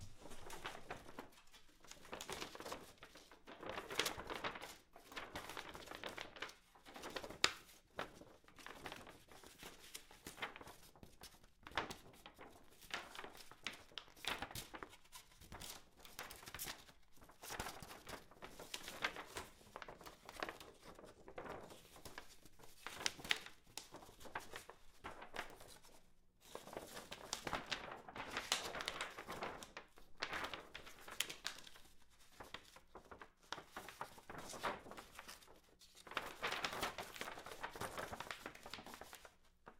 sheet of glossy poster paper flap in wind 32.4 - 39.3

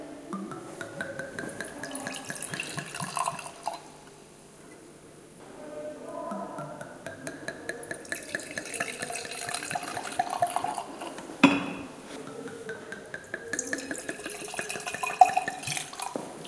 Pouring wine 0.4 - 4.0
Pouring wine 7.1 - 12.0
Pouring wine 12.8 - 16.4

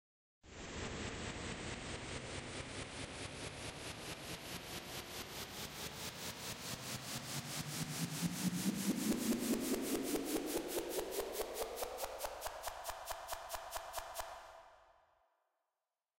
snare roll 11.5 - 14.6

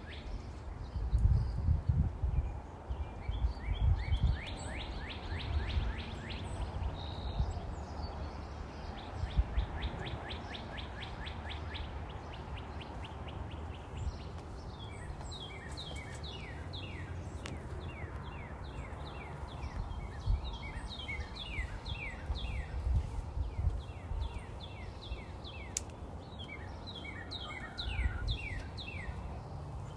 light breeze 0.0 - 29.9
light traffic (far away) 0.0 - 29.9
occasional chickens 8.9 - 29.9
me walking 12.2 - 27.4

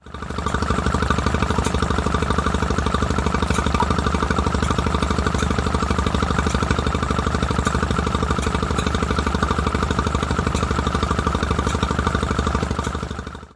Stationary Petrol-Gas Engine 0.0 - 13.5

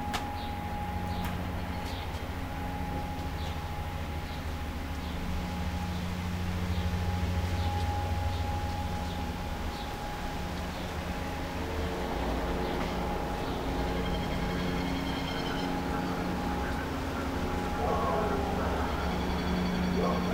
lawnmower in distance 0.0 - 20.3
wind through trees 0.0 - 20.3

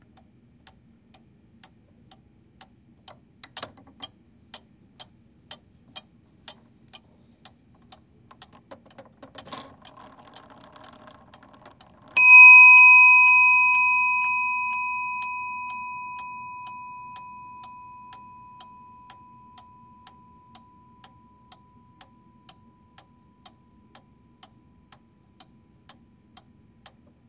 pendulum 12.2 - 22.1
clocks chiming 12.2 - 24.8

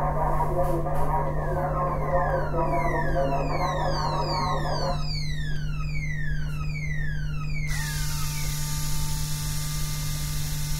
Alarm sound indicating the activity of the motor 0.0 - 10.7
Alarm sound indicating robotic movement 1.0 - 9.2
Use of the laser 7.5 - 10.7
Deceleration motor sounds 7.7 - 10.7

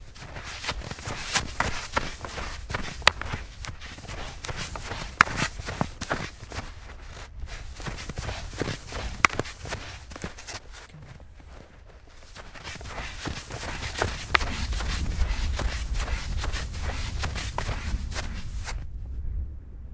footsteps snowshoes old wood1 semipacked snow 0.0 - 18.9
wind 0.0 - 19.9

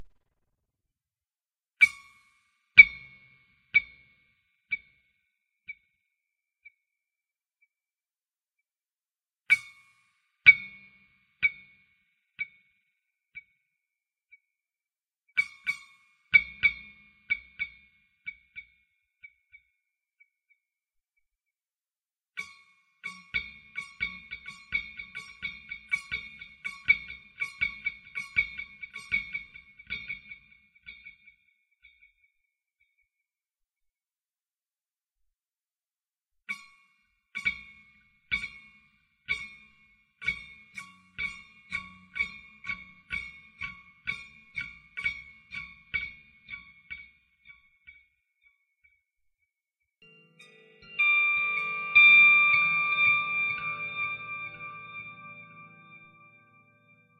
Guitar-Long Delay 50.0 - 57.1

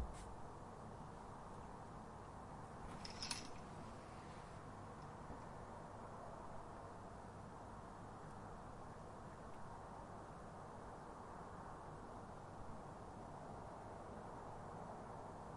roar of traffic can be heard in distance 0.0 - 15.5

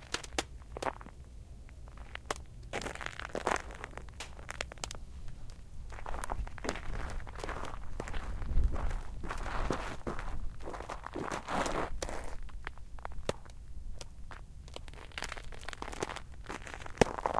walking outside on a layer of ice 0.0 - 17.3
Icy Water - Cracking 13.1 - 17.3

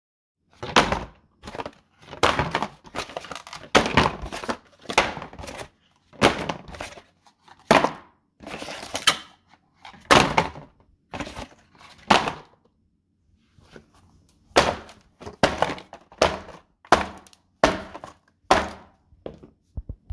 Cardboard boxes breaking 0.6 - 7.0
Cardboard boxes breaking 14.6 - 18.9

